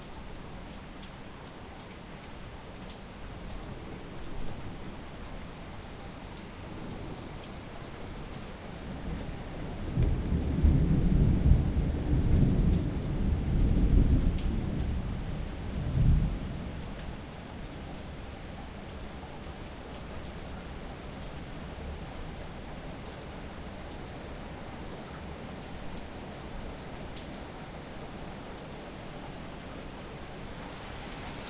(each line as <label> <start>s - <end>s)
Heavy Rain 0.0s - 31.4s
light wind 0.0s - 31.4s
thunder 9.1s - 15.0s